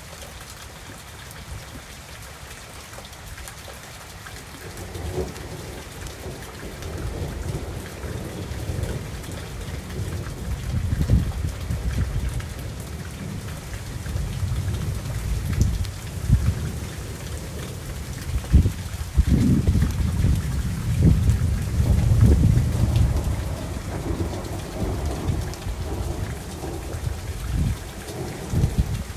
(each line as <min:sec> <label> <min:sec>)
0:00.0 rain 0:29.1
0:00.0 water source of some kind (river) 0:29.1
0:00.0 wind 0:29.1
0:18.5 thunder 0:29.1